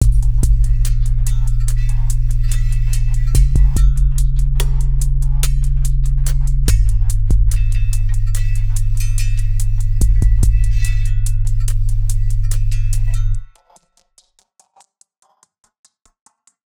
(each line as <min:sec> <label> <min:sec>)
0:00.0 kick 0:01.0
0:00.0 bassloop 0:13.5
0:00.0 hat 0:13.6
0:03.3 kick 0:04.4
0:06.7 kick 0:07.9
0:10.0 kick 0:11.0